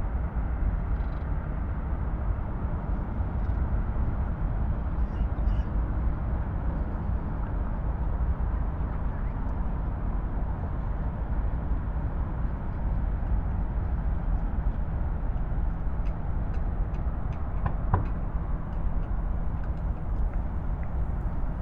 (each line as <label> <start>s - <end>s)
city drones 0.0s - 21.6s
permanent deep hum 9.9s - 21.6s